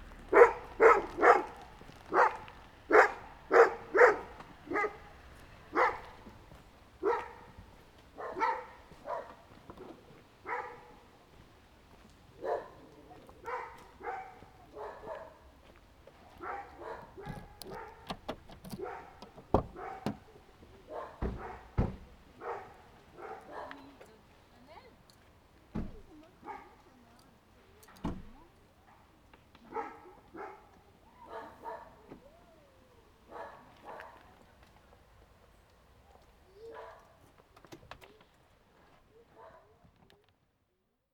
0.0s Parking the car 6.2s
0.0s walking a small path 40.7s
0.1s atrocious dogs barking 11.2s
12.3s atrocious dogs barking 15.6s
16.2s atrocious dogs barking 24.0s
16.4s Parking the car 22.6s
26.4s atrocious dogs barking 26.8s
28.8s atrocious dogs barking 32.2s
33.2s atrocious dogs barking 34.4s
36.1s atrocious dogs barking 37.2s
39.3s atrocious dogs barking 39.8s

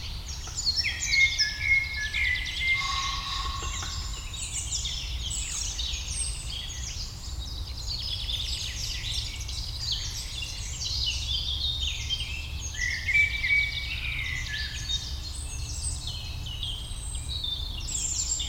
0.0s Common Pheasant 7.1s
0.0s Great Spotted Woodpecker 7.6s
0.0s Eurasian Wren 11.0s
0.0s Blackbird 18.4s
0.0s Eurasian Blackcap 18.4s
2.6s Western Jackdaw 4.7s
2.6s Robin 4.8s

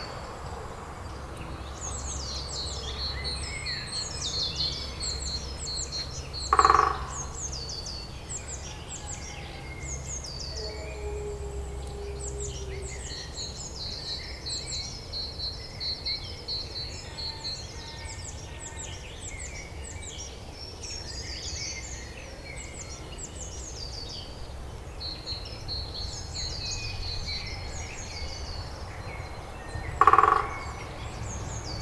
6.5s European green woodpecker strikes a tree 7.3s
30.0s European green woodpecker strikes a tree 30.6s

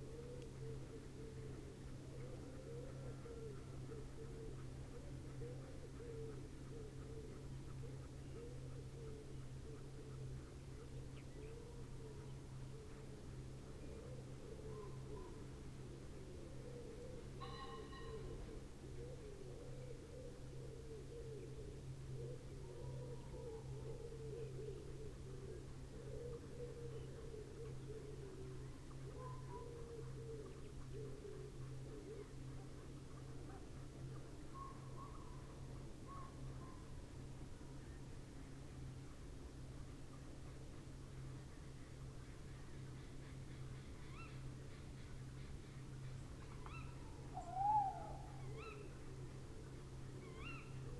0.0s pheasant 50.9s
46.4s tawny owl 49.2s
46.6s wren 49.0s
50.1s tawny owl 50.9s

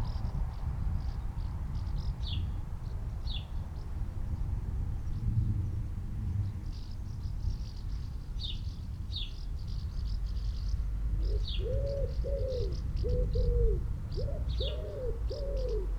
10.0s traffic 15.9s
11.2s collared dove 15.9s
11.2s wood pigeon 15.9s

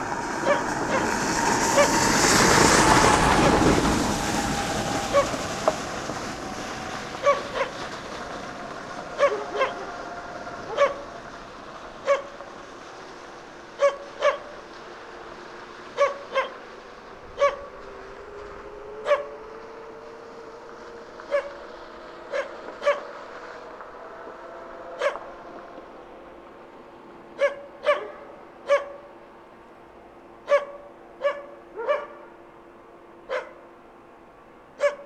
0.4s dogs barking at fellow recordist 1.1s
7.2s dogs barking at fellow recordist 7.8s
9.2s dogs barking at fellow recordist 10.0s
13.8s dogs barking at fellow recordist 14.5s
16.0s dogs barking at fellow recordist 16.6s
22.3s dogs barking at fellow recordist 23.1s
27.4s dogs barking at fellow recordist 29.0s

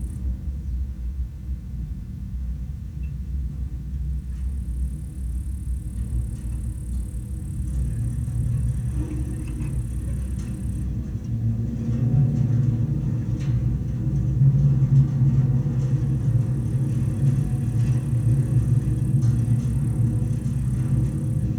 6.3s wire holding abandoned metallic water tower 21.5s

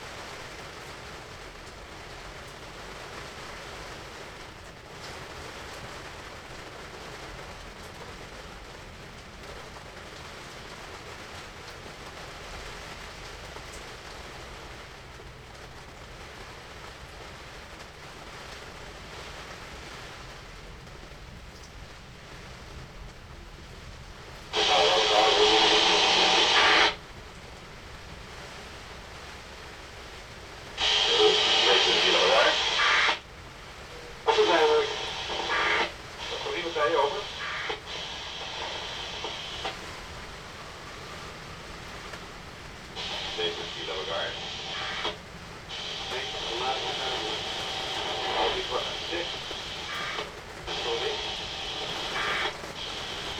0.0s rain hits the tarp 53.3s
23.6s radio traffic on channel 73 53.3s

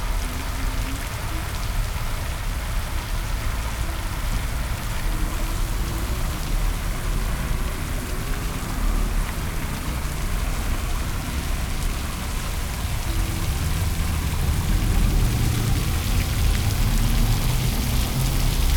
0.0s cars and buses 18.7s
0.0s fountain 18.7s
0.0s people passing by 18.7s

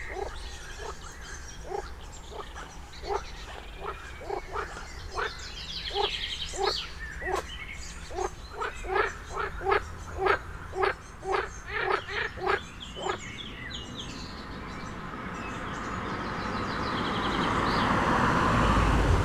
17.3s train 19.2s

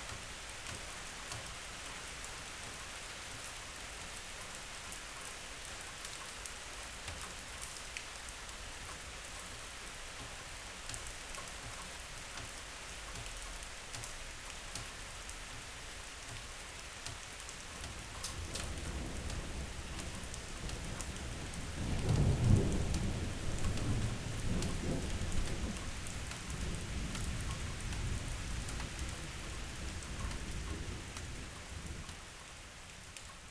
0.0s rain 33.5s
18.3s thunder 28.3s

